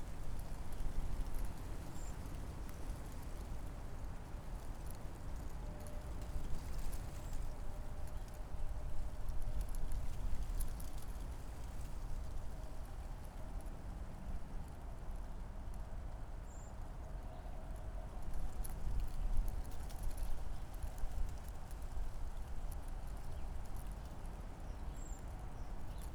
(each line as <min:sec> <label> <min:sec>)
0:00.0 wind in poplar trees 0:02.1
0:18.4 wind in poplar trees 0:26.1